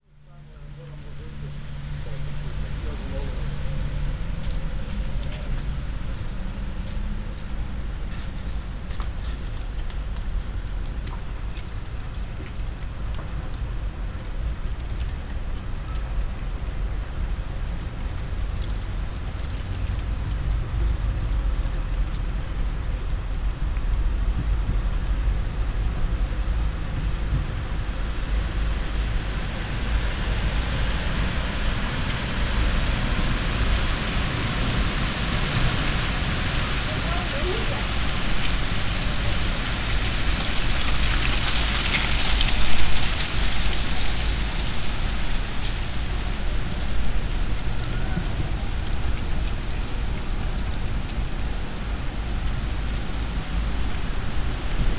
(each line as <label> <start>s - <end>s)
windy storm 1.4s - 54.9s
passers-by 14.5s - 54.9s
floating leaves 25.6s - 54.9s